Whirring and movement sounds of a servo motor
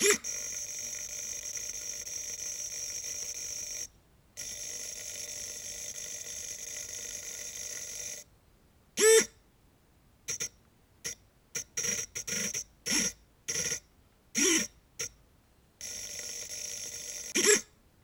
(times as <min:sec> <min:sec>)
0:00.0 0:03.8, 0:14.4 0:14.7, 0:15.8 0:17.7